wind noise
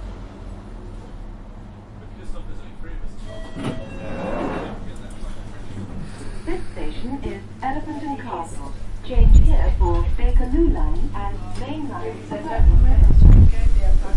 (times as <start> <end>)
9.0 11.2, 12.5 14.1